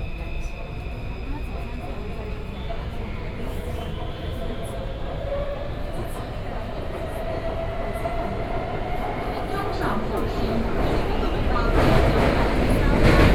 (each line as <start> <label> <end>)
0.0 Take the MRT 13.3